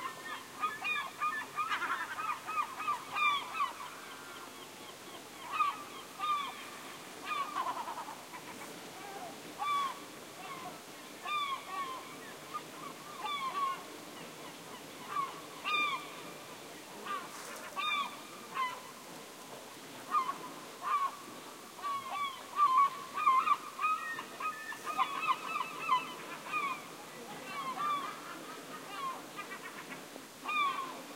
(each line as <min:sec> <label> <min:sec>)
0:00.0 seagulls screeching at some distance 0:13.9
0:00.0 ocean 0:31.1
0:15.0 seagulls screeching at some distance 0:16.3
0:17.0 seagulls screeching at some distance 0:18.9
0:20.1 seagulls screeching at some distance 0:21.2
0:21.8 seagulls screeching at some distance 0:31.1